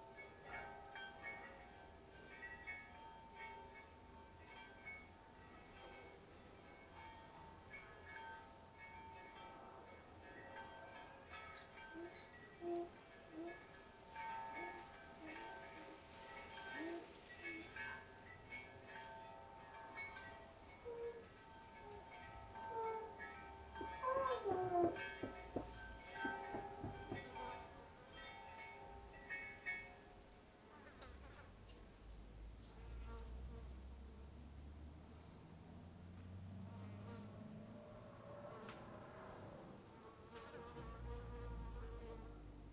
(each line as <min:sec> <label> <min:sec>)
0:00.0 bells from a near church 0:30.9
0:23.8 dogs barks 0:26.9
0:32.2 distant motorcycles 0:42.7
0:36.6 bells from a near church 0:42.7